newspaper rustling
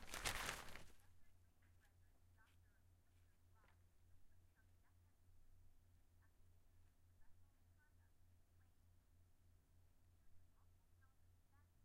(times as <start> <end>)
0.0 1.0